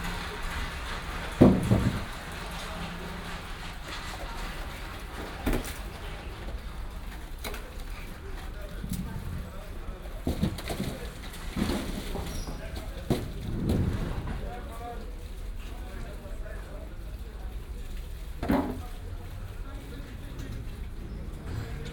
rollwagen fährt vorbei 0.0 - 12.2

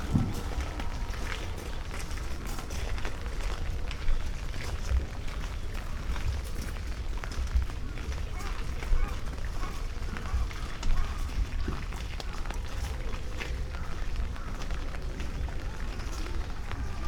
light rain 0.0 - 17.0
pond 0.0 - 17.0

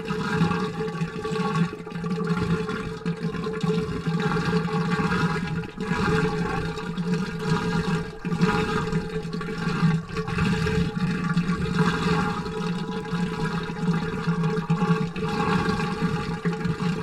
water pool machine 0.0 - 17.0

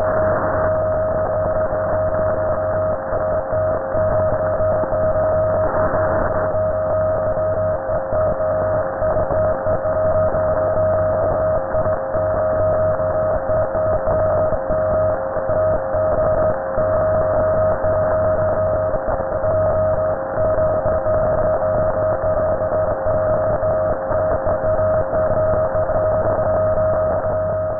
radiostorm, statics 0.0 - 27.7

